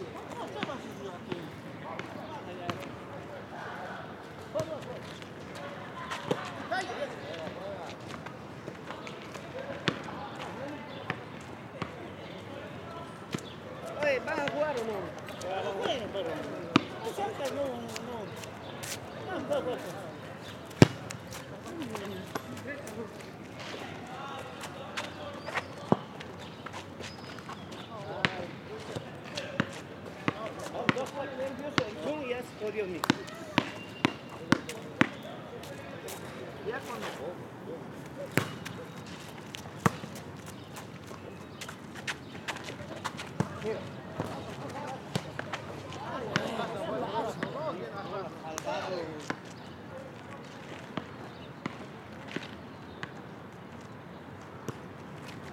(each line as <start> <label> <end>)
5.6 volleyball match 36.7
38.0 volleyball match 53.3